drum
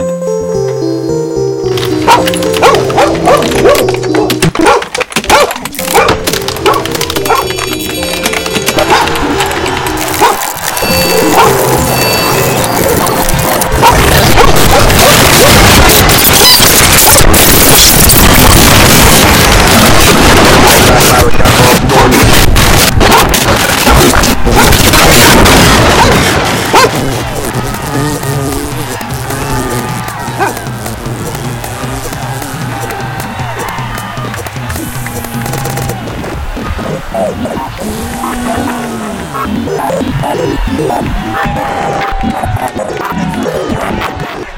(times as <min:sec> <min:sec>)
0:24.8 0:38.9